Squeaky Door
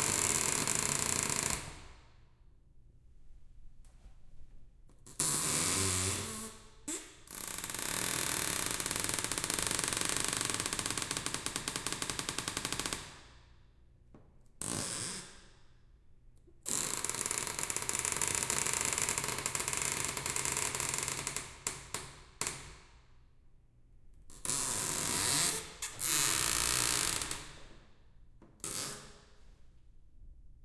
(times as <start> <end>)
5.2 7.1, 24.5 27.3